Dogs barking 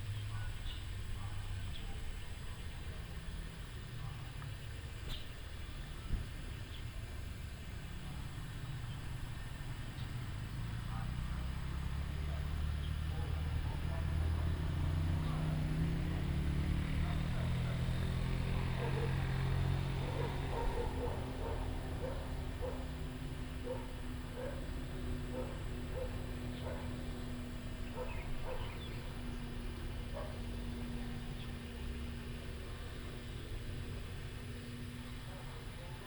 12.2s 36.0s

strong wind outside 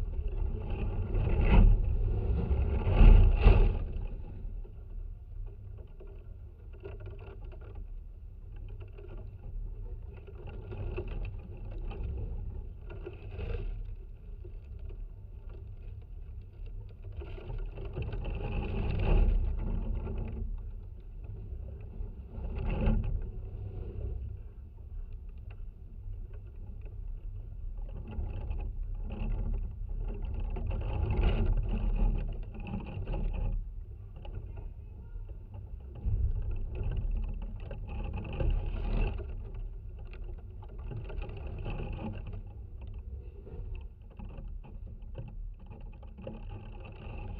28.0s 44.3s

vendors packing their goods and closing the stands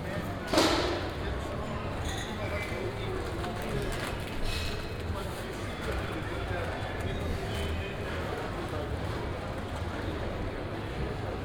0.0s 4.8s

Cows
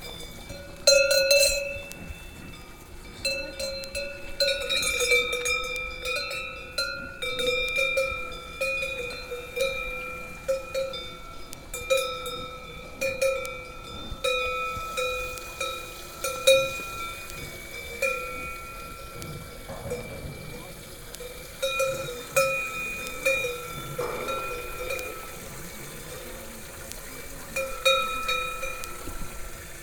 13.0s 29.8s

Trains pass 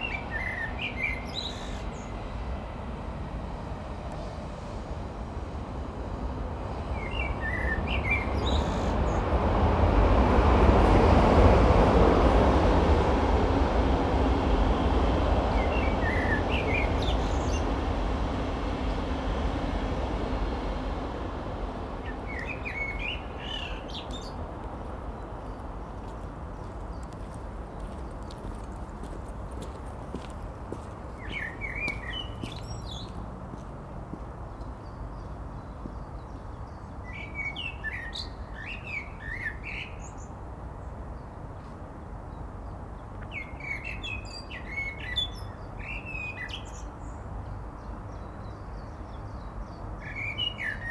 0.0s 37.1s

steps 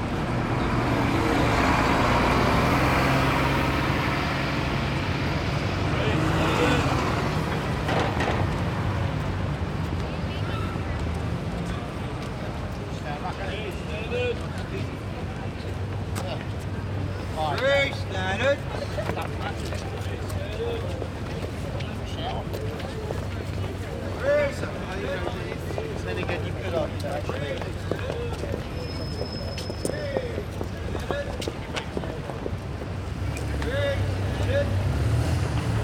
25.2s 34.5s

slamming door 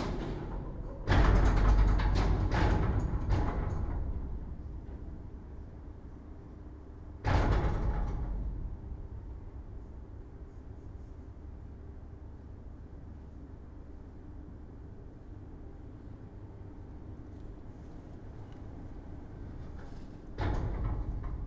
0.0s 4.6s, 7.2s 9.0s, 19.6s 21.4s

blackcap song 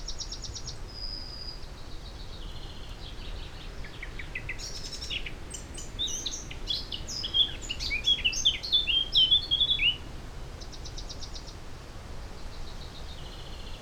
2.2s 10.0s

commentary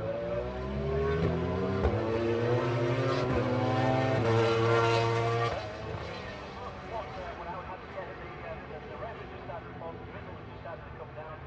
6.4s 11.4s

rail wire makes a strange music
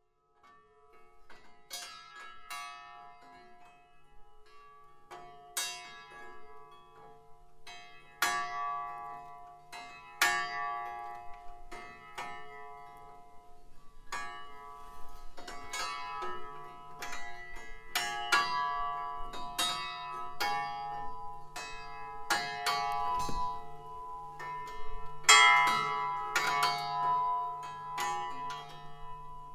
14.1s 29.5s

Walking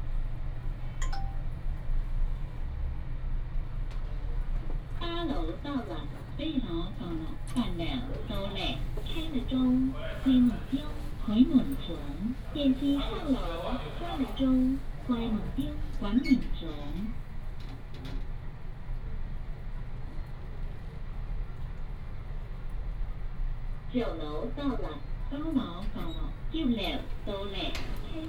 26.8s 28.2s

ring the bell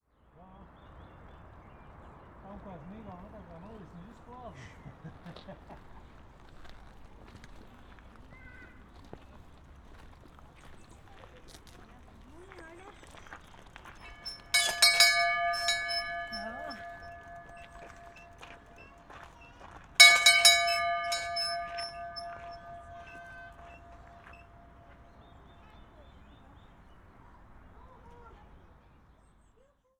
14.0s 19.1s, 20.0s 24.8s

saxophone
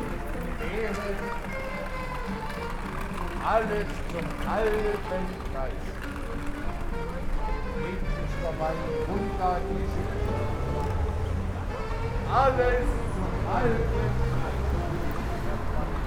5.3s 15.7s

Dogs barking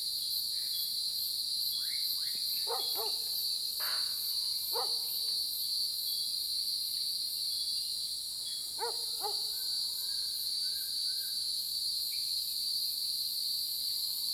2.7s 3.3s, 4.7s 5.1s, 8.8s 9.5s

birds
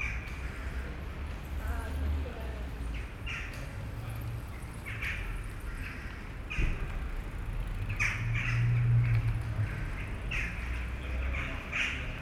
2.8s 3.8s, 4.4s 7.0s, 7.6s 12.2s

